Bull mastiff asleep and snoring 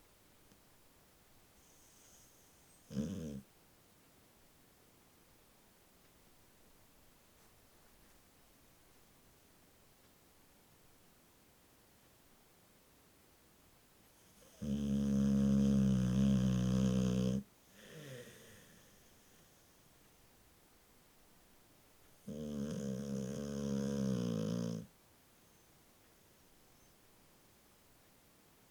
0:01.6 0:03.5, 0:14.2 0:19.8, 0:22.2 0:25.0

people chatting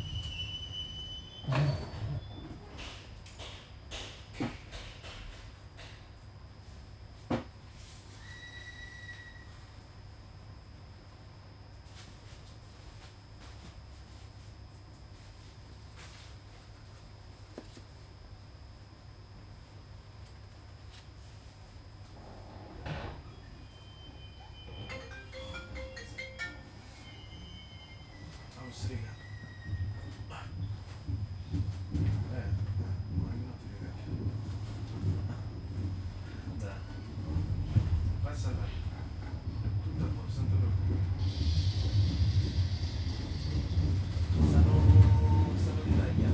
0:28.6 0:29.2, 0:32.0 0:34.3, 0:36.3 0:41.2, 0:44.3 0:46.3

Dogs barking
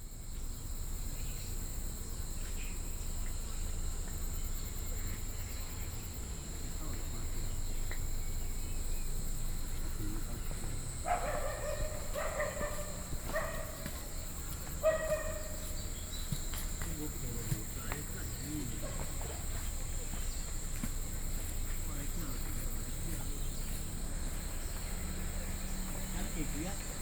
0:10.2 0:20.2

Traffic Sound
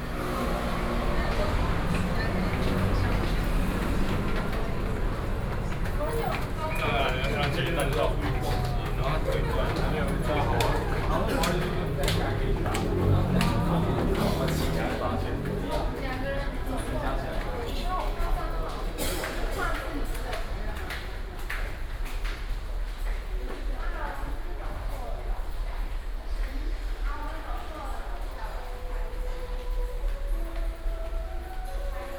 0:00.0 0:22.2

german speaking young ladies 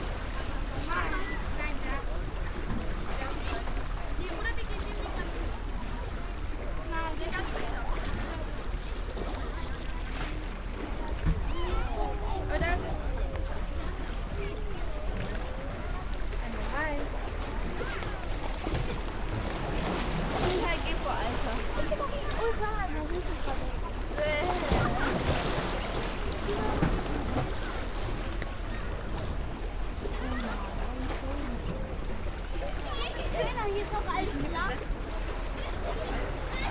0:32.9 0:35.2

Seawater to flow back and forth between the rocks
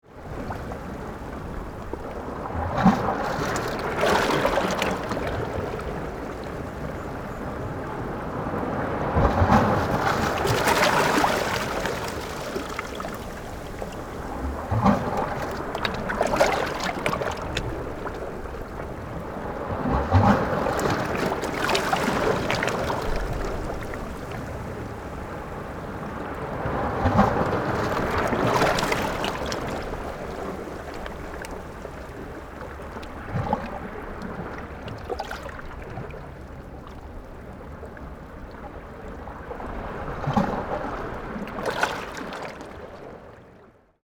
0:07.5 0:38.2

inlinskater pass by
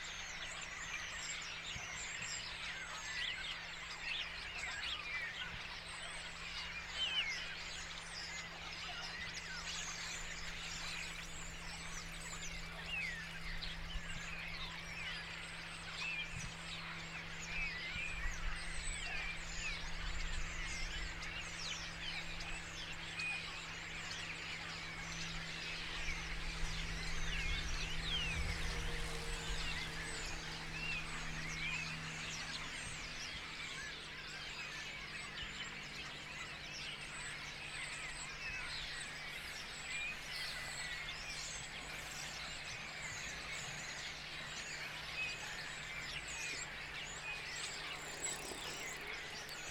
0:43.7 0:49.7

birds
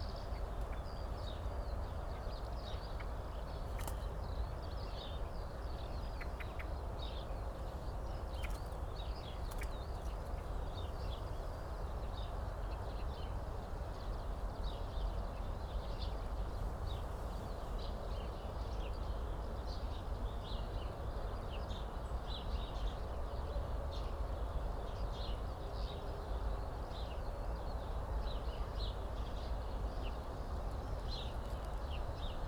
0:00.2 0:12.4

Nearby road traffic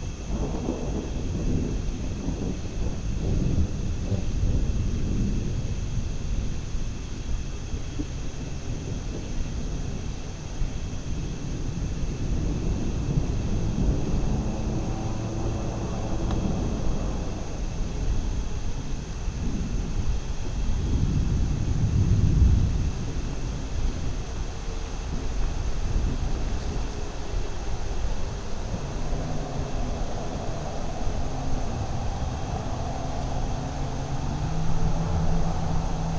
0:12.1 0:19.4, 0:25.5 0:36.1

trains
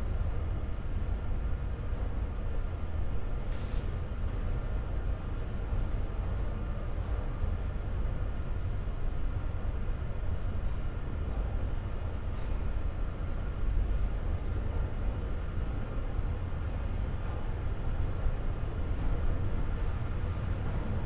0:06.6 0:21.0

